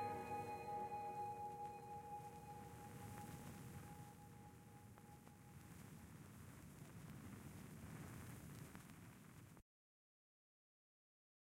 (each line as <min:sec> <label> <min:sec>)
0:00.0 very long guitar intro 0:04.0